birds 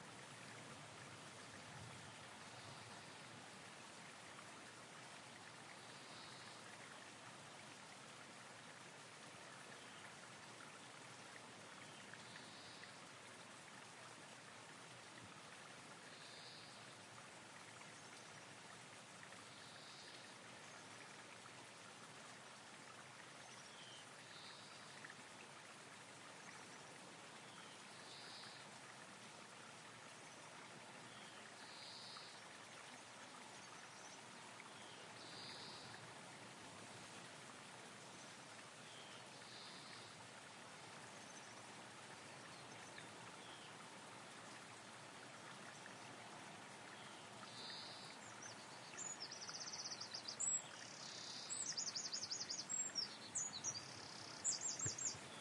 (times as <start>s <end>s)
47.0s 55.4s